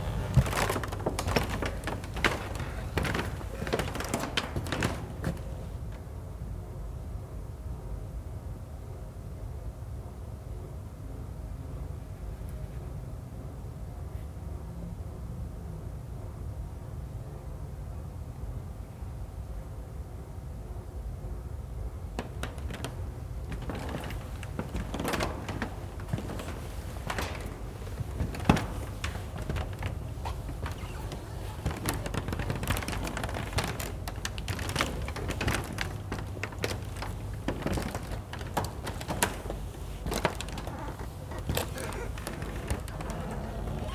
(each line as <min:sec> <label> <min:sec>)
0:00.0 Walking over the spectacularly creaky floor 0:06.1
0:22.2 Walking over the spectacularly creaky floor 0:43.9